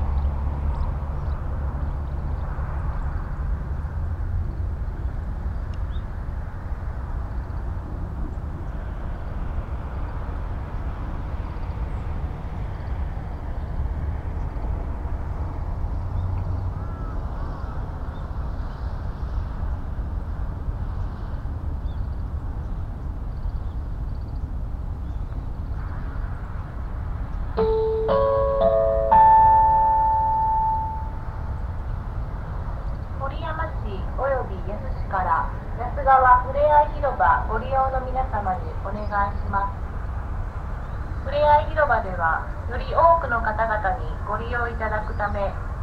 Traffic rumble 0:00.0 - 0:45.8
crows 0:16.7 - 0:17.9
hourly public address message 0:27.6 - 0:31.4
hourly public address message 0:33.2 - 0:39.8
hourly public address message 0:41.3 - 0:45.6

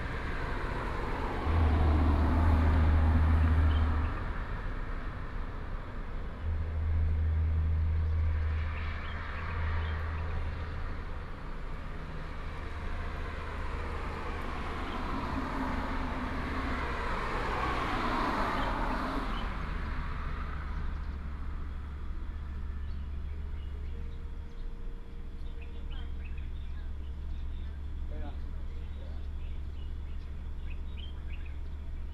Traffic sound 0:00.0 - 0:32.1
Birds sound 0:20.8 - 0:32.1

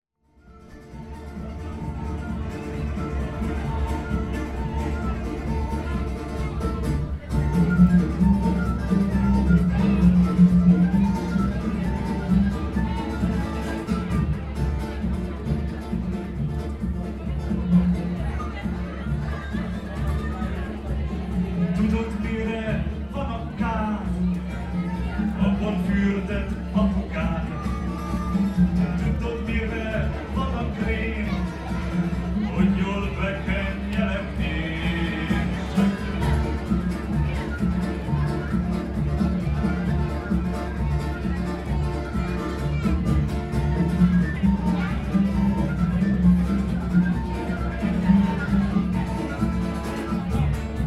Folk performance 0:00.2 - 0:50.8

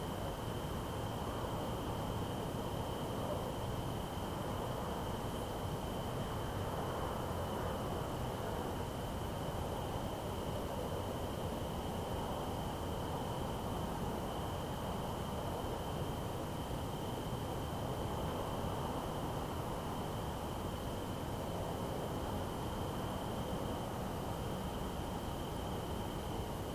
crickets 0:00.0 - 0:26.7

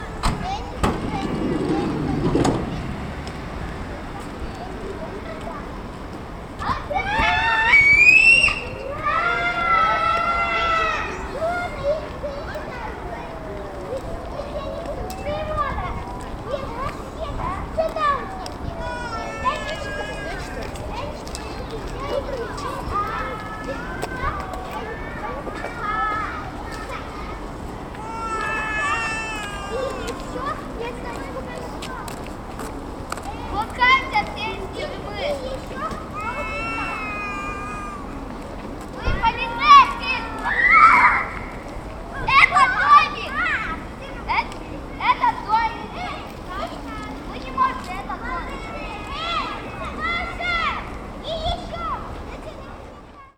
three kids play 0:00.0 - 0:53.3

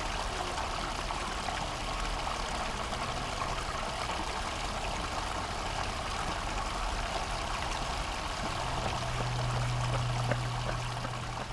water overrun 0:04.5 - 0:11.5

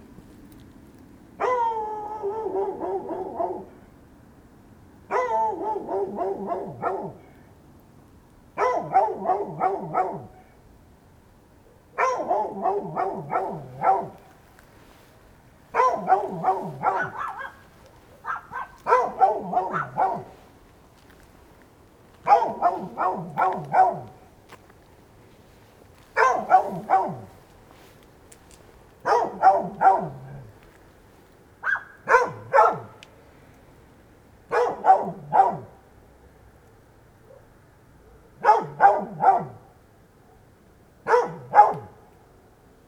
Dog barking 0:01.4 - 0:03.8
Dog barking 0:05.1 - 0:07.4
Dog barking 0:08.6 - 0:10.6
Dog barking 0:11.7 - 0:14.3
Dog barking 0:15.7 - 0:20.4
Dog barking 0:22.2 - 0:24.2
Dog barking 0:26.1 - 0:27.4
Dog barking 0:29.0 - 0:30.5
Dog barking 0:31.6 - 0:33.0
Dog barking 0:34.5 - 0:35.8
Dog barking 0:37.3 - 0:37.5
Dog barking 0:38.3 - 0:39.7
Dog barking 0:41.1 - 0:42.1

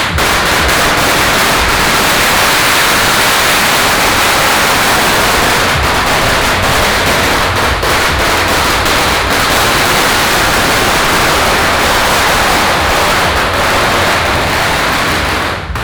Firecrackers sound 0:00.0 - 0:15.8
walking in the Street 0:00.0 - 0:15.8

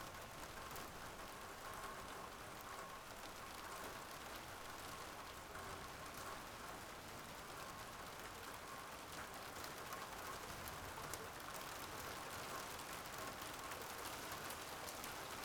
light ice rain 0:00.0 - 0:15.4

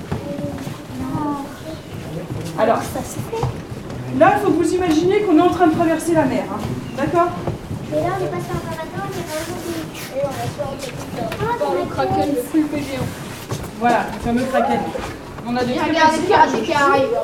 enfants 0:00.2 - 0:13.7

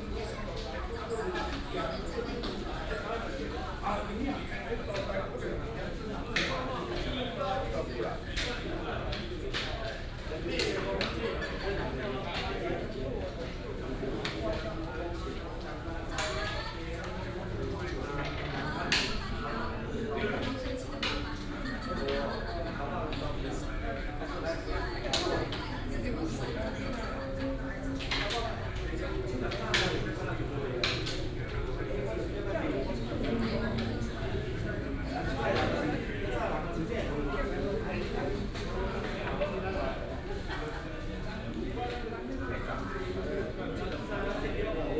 elderly are playing chess 0:00.2 - 0:44.9

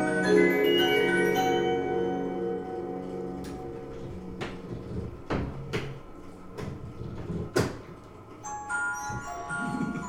antique Olympia music box plays the ragtime tune 0:00.0 - 0:03.0
Occasional hand-cranking 0:00.0 - 0:10.0
antique Olympia music box plays the ragtime tune 0:08.4 - 0:10.0

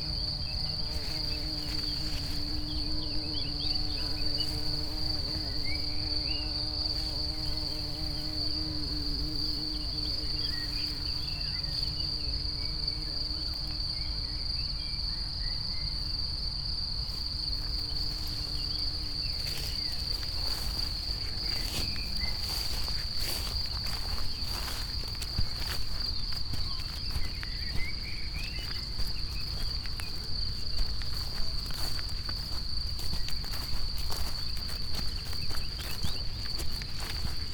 wet grass 0:19.3 - 0:27.8

